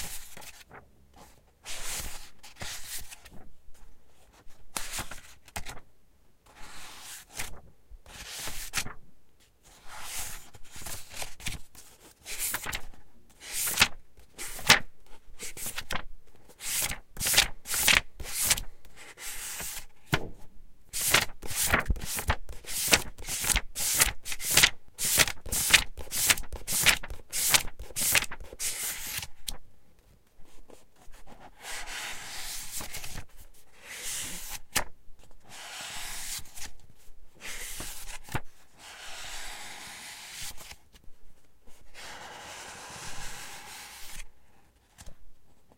Flipping through pages 0:00.0 - 0:05.8
Flipping through pages 0:06.5 - 0:09.0
Flipping through pages 0:09.7 - 0:29.6
Flipping through pages 0:32.1 - 0:39.4
Flipping through pages 0:44.8 - 0:45.2

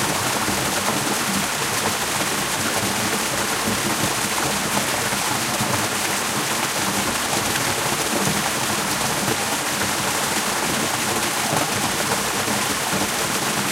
water cascading out of retreating Solheimajokull glacier 0:00.0 - 0:13.7

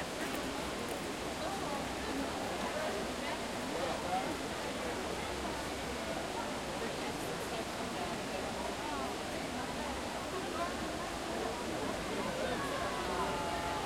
crowd 0:00.0 - 0:13.8
water 0:00.0 - 0:13.8

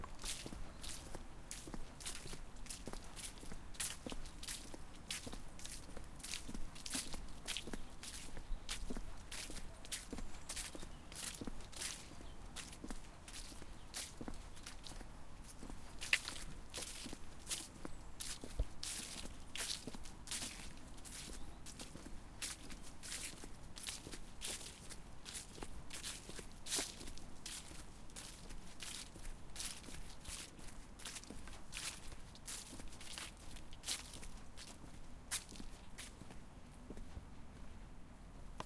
Footsteps on path - some fallen leaves 0:00.0 - 0:37.2
birds 0:07.1 - 0:14.9
birds 0:21.2 - 0:22.1

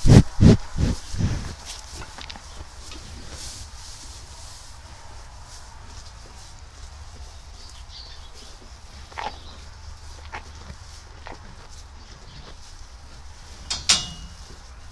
Cows munching on hay 0:00.0 - 0:14.9

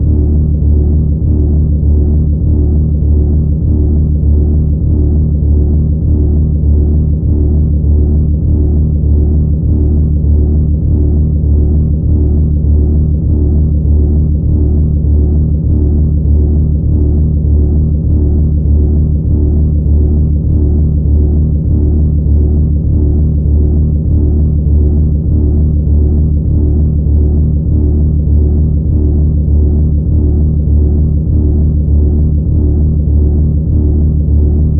bassy cinematic rhythmic/pulsating atmosphere 0:00.0 - 0:34.7

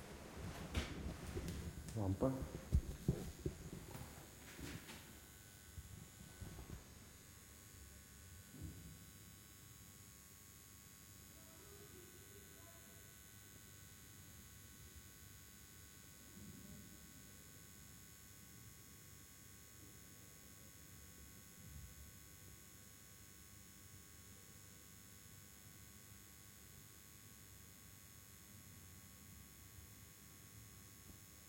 Fluorescent Lamp 0:00.0 - 0:09.8

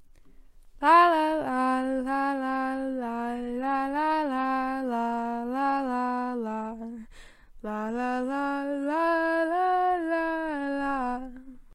feminine voice singing random melody 0:00.8 - 0:11.7

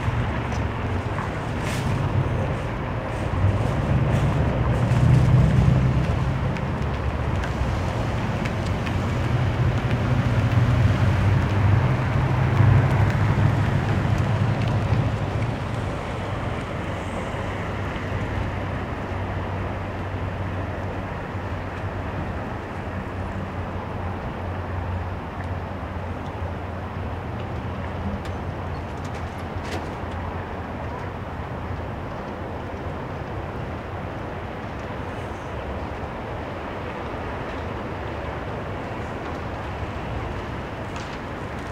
Cars passing 0:00.0 - 0:41.7

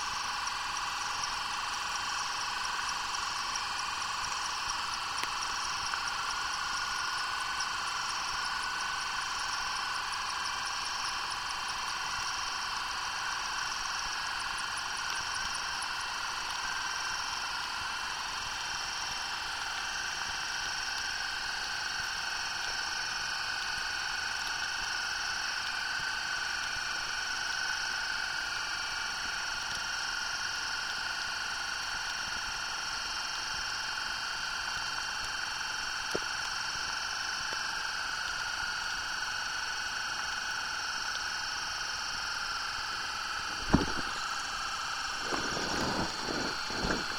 air escaping its pours as they are filled with water 0:41.9 - 0:47.1

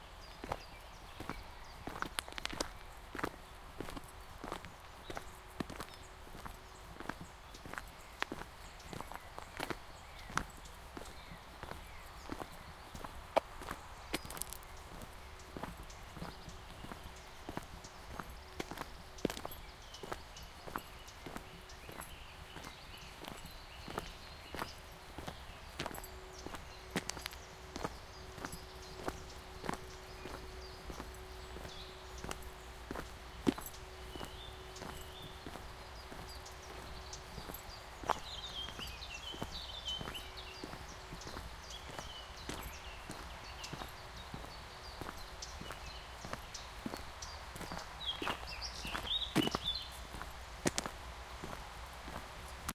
Walking on a forest road 0:00.0 - 0:52.7
birds 0:00.0 - 0:52.7

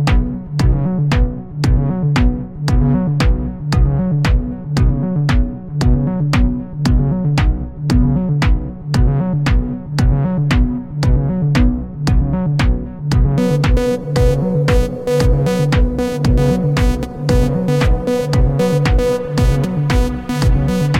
bass 0:00.0 - 0:20.9
drum 0:00.0 - 0:20.9
lead 0:13.4 - 0:20.9

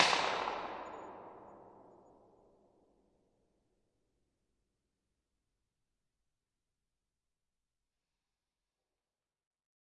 cap gun 0:00.0 - 0:01.4

